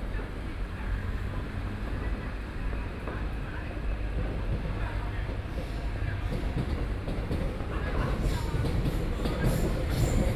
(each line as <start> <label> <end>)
0.0 MRT trains through 10.3